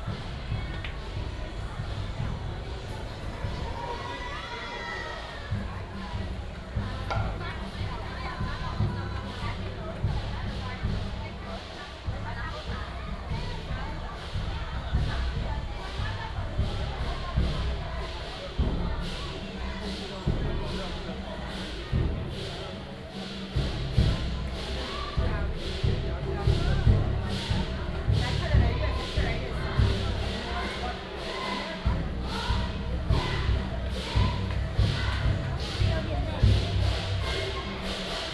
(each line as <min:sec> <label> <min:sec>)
0:00.0 Walking on the road 0:38.3